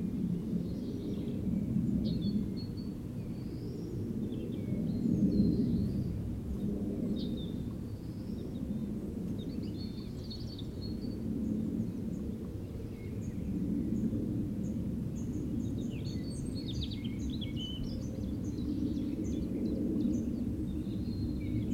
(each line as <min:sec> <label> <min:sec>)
0:00.0 Plane flying high over forest 0:21.7
0:00.4 Forest birds singing 0:06.2
0:07.1 Forest birds singing 0:21.7